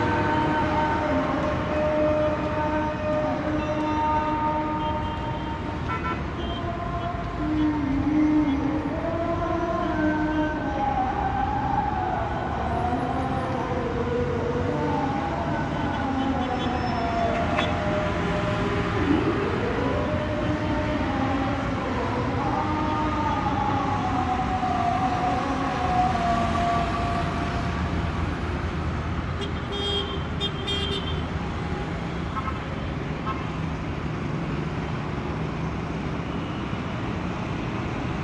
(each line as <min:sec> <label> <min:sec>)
0:00.0 muezzin is singing 0:29.0
0:00.0 traffic 0:38.2